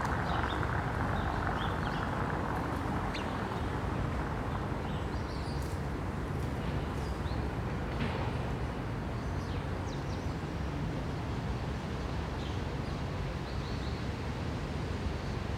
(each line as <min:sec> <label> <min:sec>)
0:00.0 bikes 0:08.9